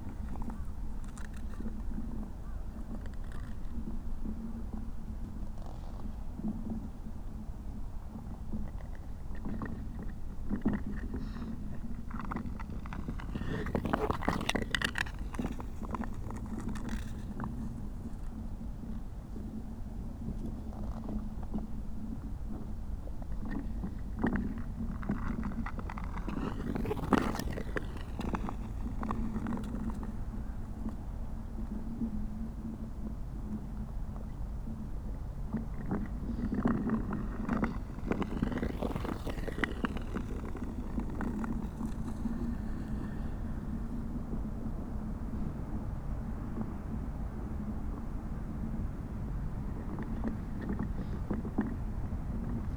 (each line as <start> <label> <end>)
0.0 Ice skater on frozen lake 32.4
35.5 Ice skater on frozen lake 44.7
49.4 Ice skater on frozen lake 52.7